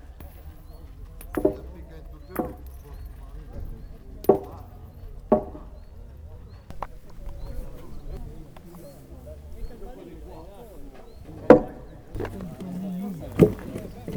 voices 0:00.0 - 0:14.1
metal balls hitting a wooden panel 0:00.2 - 0:06.0
metal balls hitting a wooden panel 0:06.7 - 0:14.1

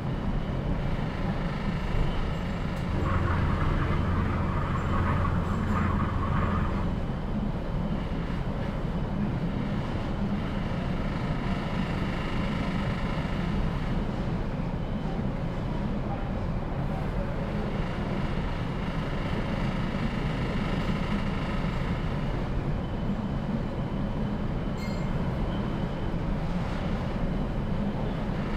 little storm overboard 0:00.0 - 0:15.2

